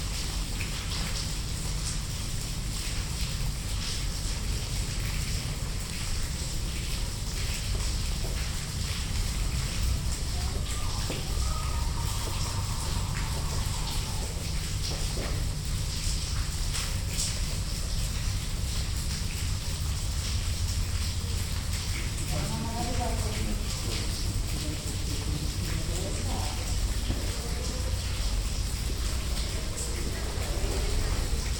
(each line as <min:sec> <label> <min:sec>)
0:00.0 rain 0:31.5